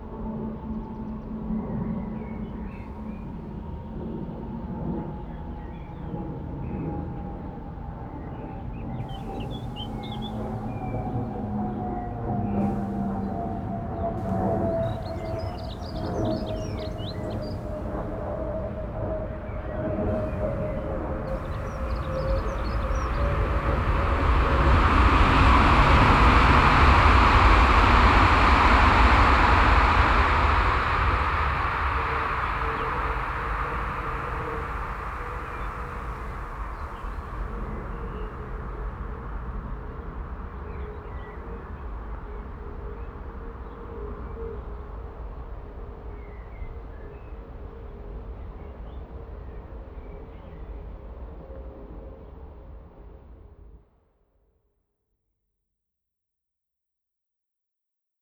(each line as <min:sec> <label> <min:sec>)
0:00.1 plane passing the sky 0:44.8
0:09.0 passing by trains 0:42.2